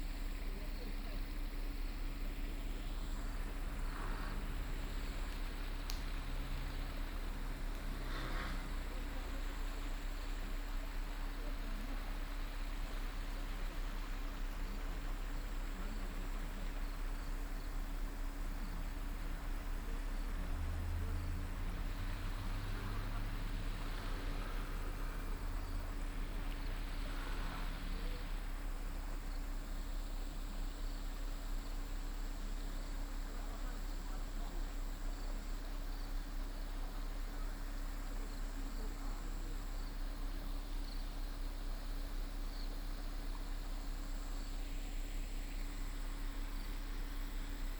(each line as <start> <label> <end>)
0.0 stream 47.7
17.0 Traffic sound 33.1